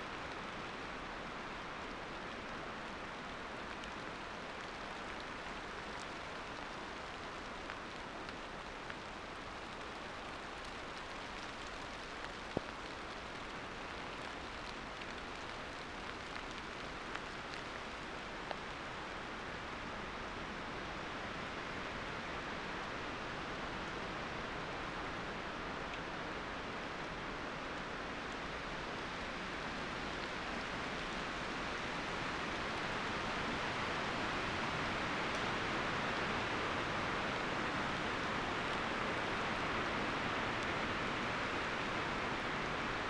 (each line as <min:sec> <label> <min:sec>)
0:00.0 rain starts on tumulus ground 0:43.0